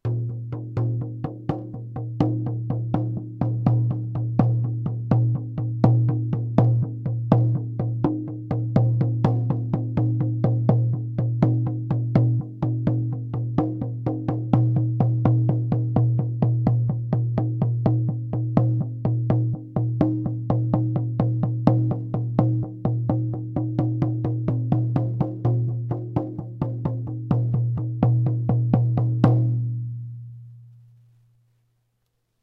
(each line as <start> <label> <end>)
0.0 Hand Frame Drumming 29.7